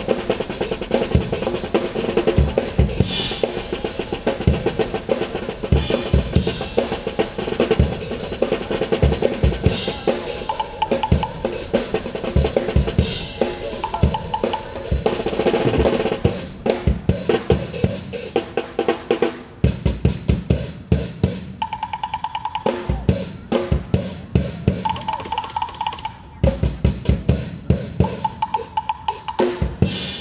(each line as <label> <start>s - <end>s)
Street artist drummers 0.0s - 30.2s